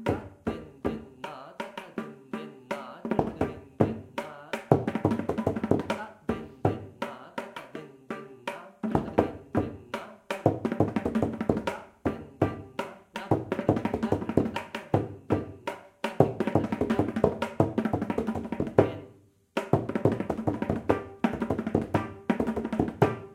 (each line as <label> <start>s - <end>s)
Konnakol (oral percussion) 0.0s - 23.3s
Mridangam strokes 0.0s - 23.3s